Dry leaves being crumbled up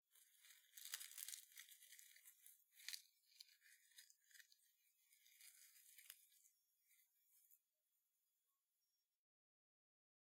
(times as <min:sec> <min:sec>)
0:00.1 0:07.0